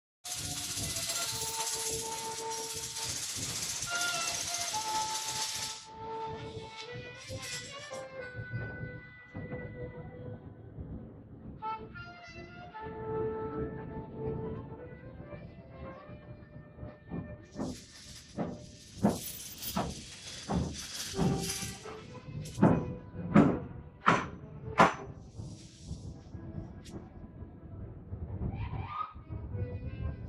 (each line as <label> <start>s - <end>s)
machine 0.3s - 8.4s
music 0.3s - 30.2s
machine 16.8s - 27.0s